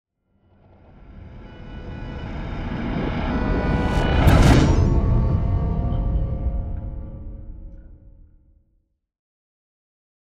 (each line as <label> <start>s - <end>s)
whoosh 1.9s - 8.0s
Riser Hit 2.2s - 8.1s
boom 2.6s - 8.3s